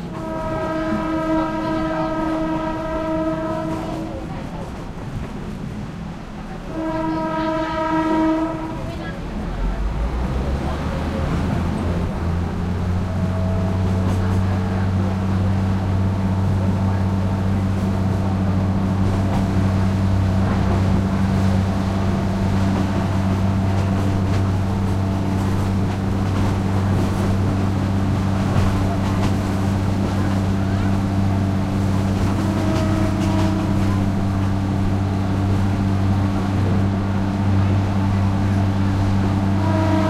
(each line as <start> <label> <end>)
0.0 passenger commuter train 40.0
8.3 track movement 40.0